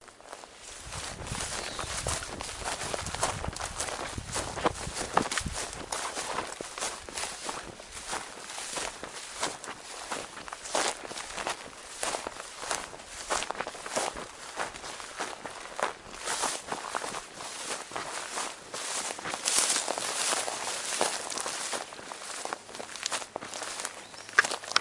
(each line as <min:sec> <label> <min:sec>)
0:00.1 Dead grass being crunched underfoot 0:24.8
0:00.2 wind gently blowing through the grass 0:24.0
0:00.2 living green grass brushing against clothes 0:24.8
0:01.3 birds 0:02.7
0:23.6 birds 0:24.8